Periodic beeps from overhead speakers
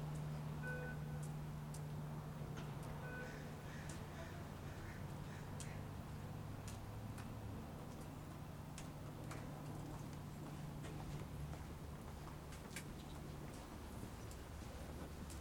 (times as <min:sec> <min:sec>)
0:00.6 0:01.3, 0:03.0 0:03.5